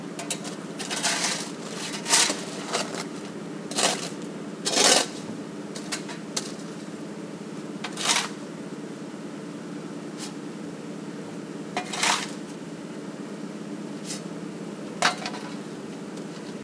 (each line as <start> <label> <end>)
0.2 shovel scraping up the pavement 6.8
7.8 shovel scraping up the pavement 8.4
11.8 shovel scraping up the pavement 12.5
14.0 shovel scraping up the pavement 14.3